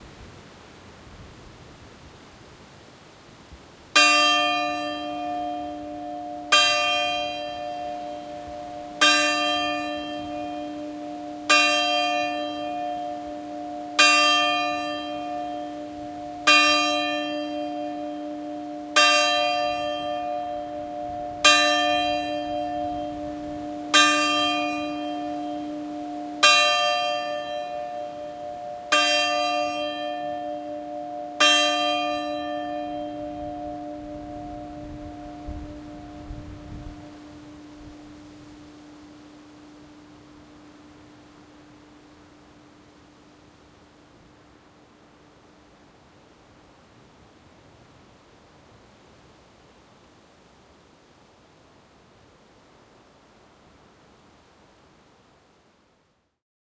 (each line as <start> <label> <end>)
4.0 churchbells 45.6
19.6 wind noise 25.7
32.8 wind noise 42.6